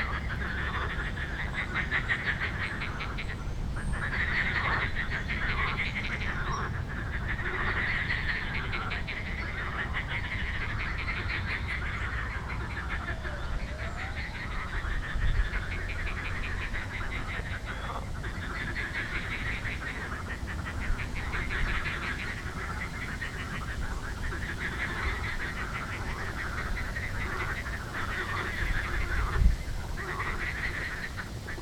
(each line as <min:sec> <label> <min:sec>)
0:00.0 voices of frogs 0:31.6